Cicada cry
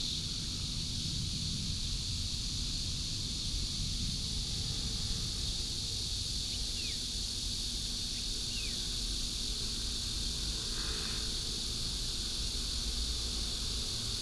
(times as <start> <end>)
6.0 9.7